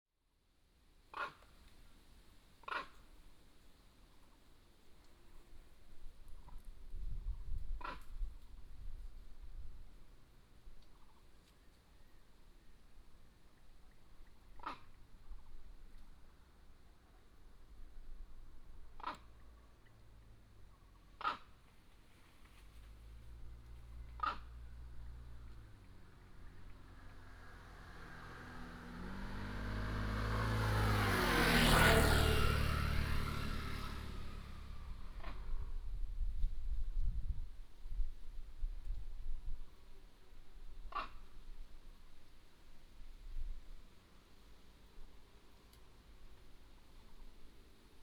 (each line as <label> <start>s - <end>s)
traffic sound 18.8s - 36.1s
Squirrel call 24.0s - 24.6s
Squirrel call 40.9s - 41.3s